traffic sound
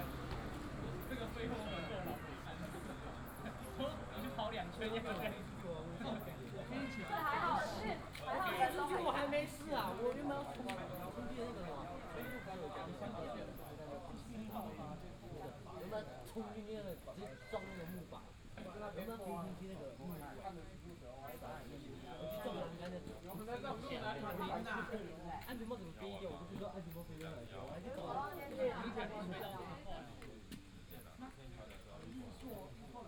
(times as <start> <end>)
0.0 13.6